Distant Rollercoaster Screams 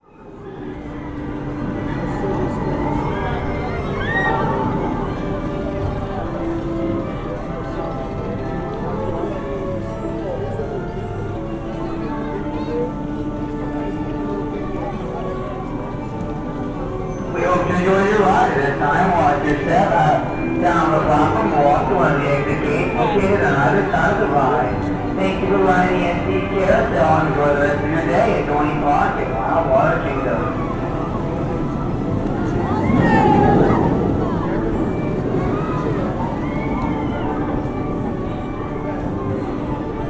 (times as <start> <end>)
0.0 7.2, 28.3 40.0